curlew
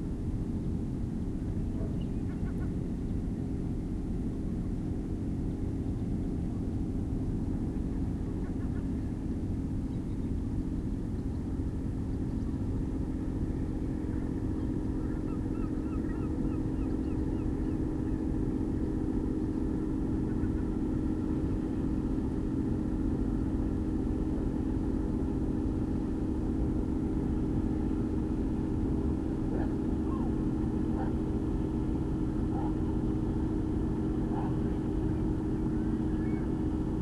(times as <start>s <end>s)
14.6s 18.3s, 35.6s 36.6s